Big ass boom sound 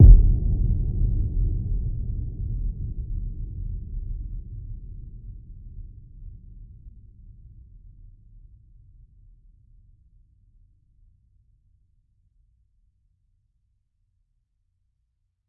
0.0 2.6

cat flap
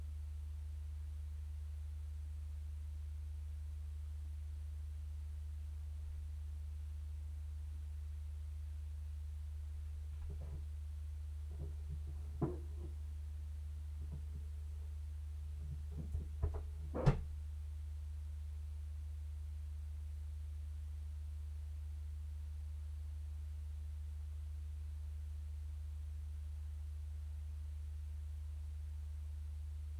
15.6 17.4

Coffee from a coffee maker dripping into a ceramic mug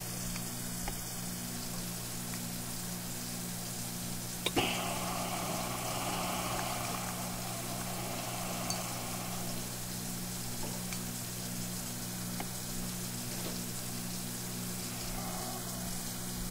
4.5 10.0

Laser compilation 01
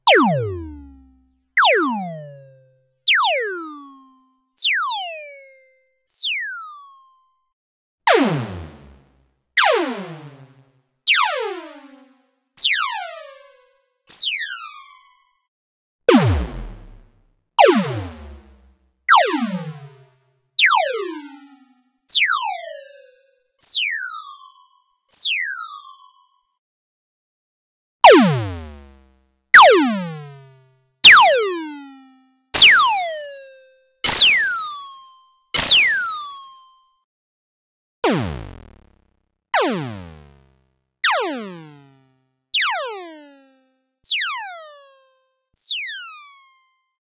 34.1 34.5, 35.6 36.0

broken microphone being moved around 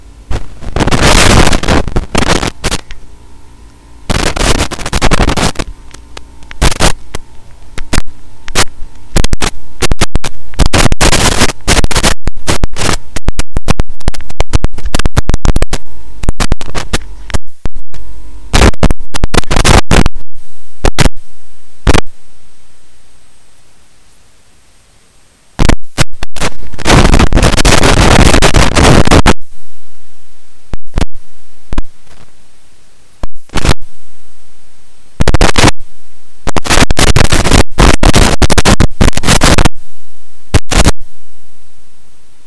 31.8 32.4

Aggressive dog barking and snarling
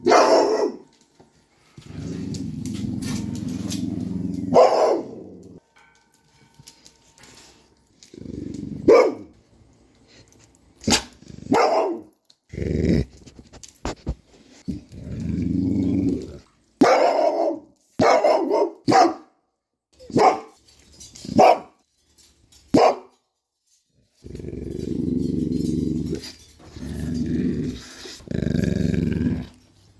0.0 1.0, 1.9 5.6, 8.1 9.4, 10.8 13.4, 14.8 19.2

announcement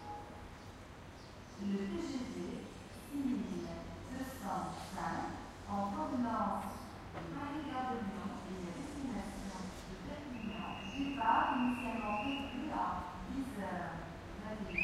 7.4 13.8, 14.4 14.8

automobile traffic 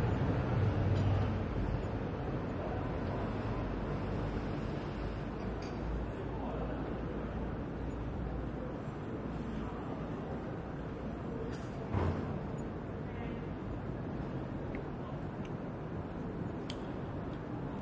0.0 5.6

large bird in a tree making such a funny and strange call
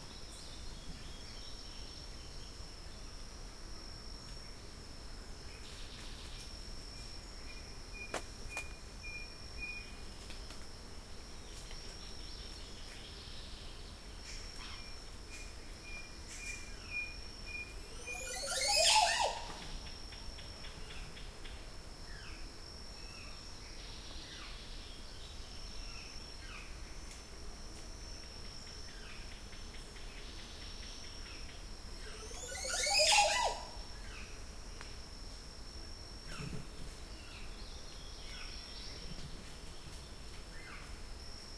18.1 19.5, 32.3 33.7

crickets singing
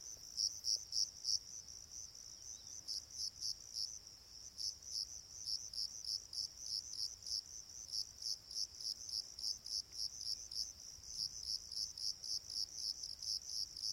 0.4 4.0

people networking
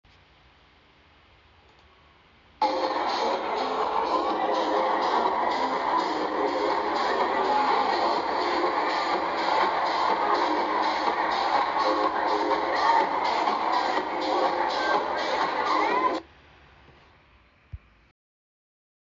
2.6 16.2

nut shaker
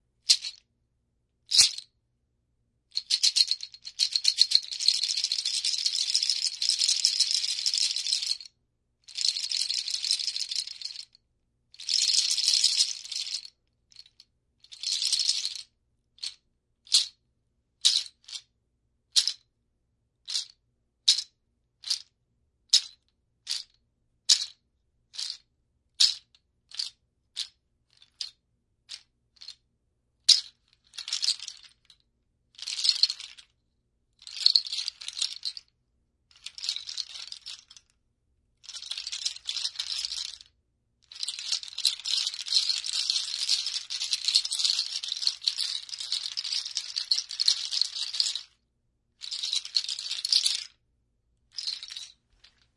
0.2 0.6, 1.5 1.9, 2.9 8.5, 9.1 11.2, 11.8 17.2, 20.2 22.1, 22.7 25.4, 26.0 29.6, 30.2 32.0, 32.6 33.5, 34.2 35.7, 36.3 38.0, 38.6 48.6, 49.2 50.8, 51.5 52.7

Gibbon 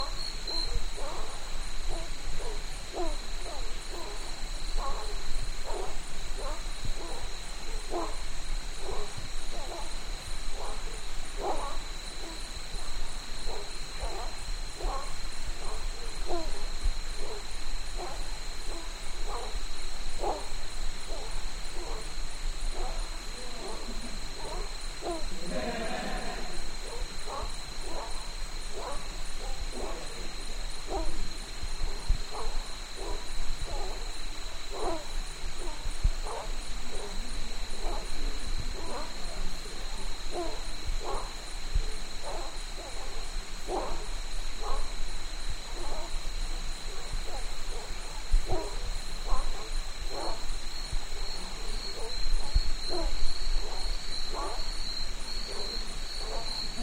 22.7 28.1

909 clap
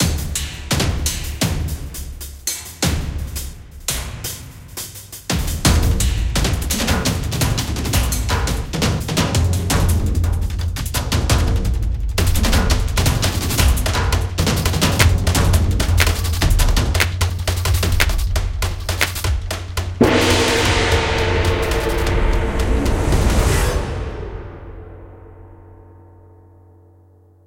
15.0 15.3, 16.0 16.4, 17.0 18.3, 18.9 19.4

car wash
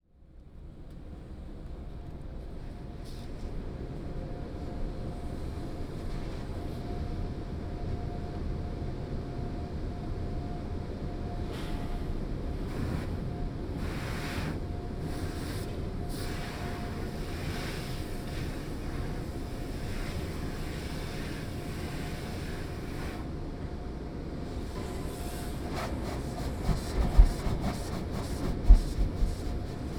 12.7 23.4

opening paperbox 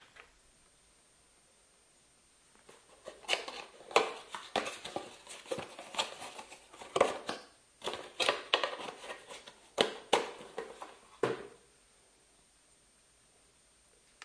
2.7 11.6

